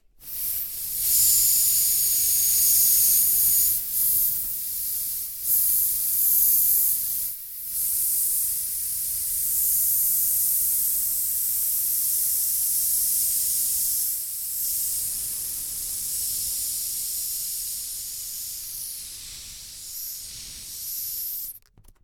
Balloon Deflate Long 0:17.2 - 0:22.0

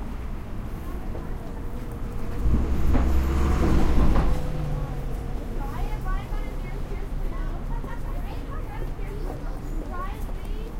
cars 0:00.0 - 0:10.7
Walking around 0:00.2 - 0:10.7
voices 0:00.5 - 0:10.7

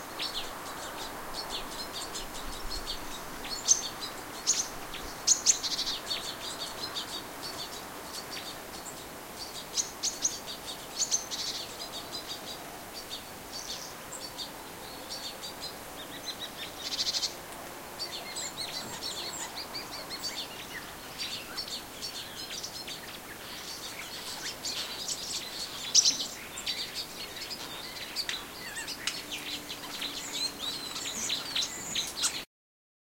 birdsong 0:00.0 - 0:32.5
forest noises 0:00.0 - 0:32.5

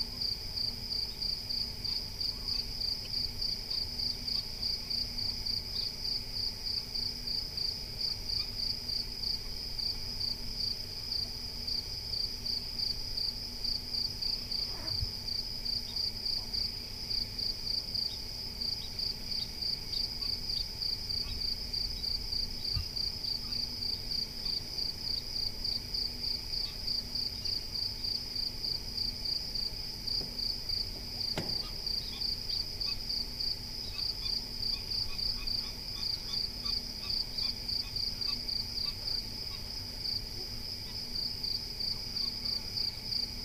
crickets singing 0:00.0 - 0:43.4

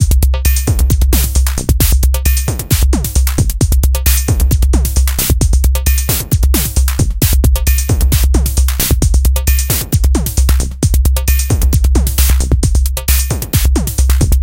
drumloop 0:00.0 - 0:14.4

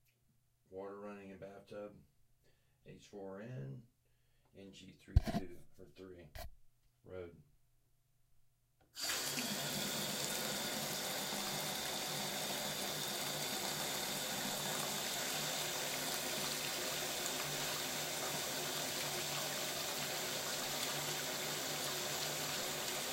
bathtub water run2 0:09.0 - 0:23.1

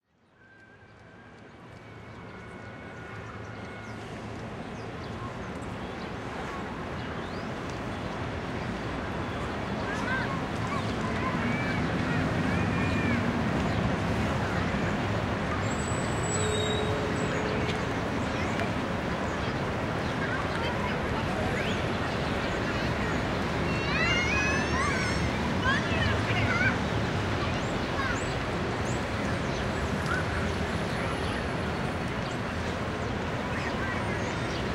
traffic sounds 0:00.0 - 0:34.7
children playing 0:09.1 - 0:34.7
people talking 0:09.7 - 0:34.7

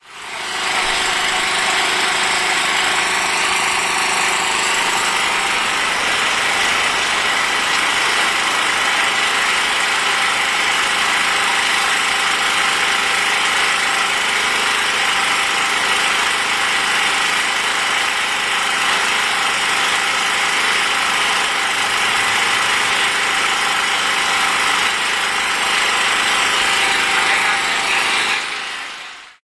noise produced by the electric generator 0:00.0 - 0:29.4

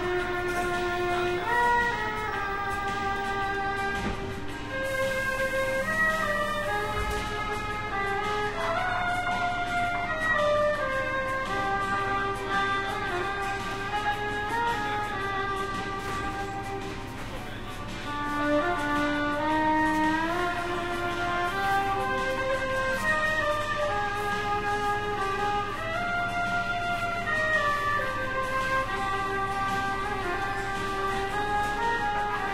riding suburban train 0:00.0 - 0:14.8
Street musician plays violin 0:00.0 - 0:32.5
riding suburban train 0:15.4 - 0:19.5

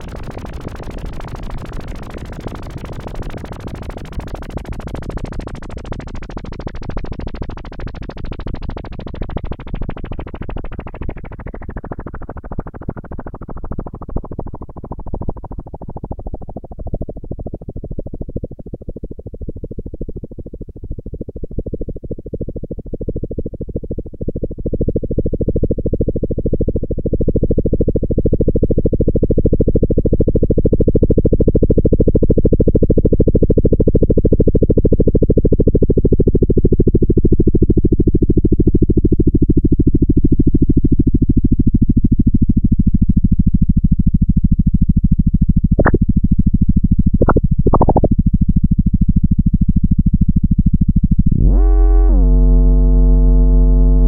synth 0:45.8 - 0:46.0
synth 0:47.2 - 0:48.2

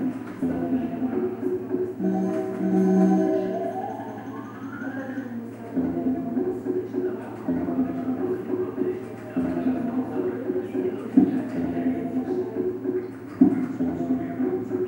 slotmachine 0:02.0 - 0:05.4

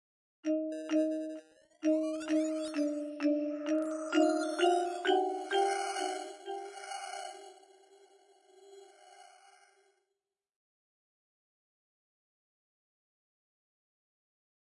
marimba with multiple effects applied 0:00.5 - 0:07.6

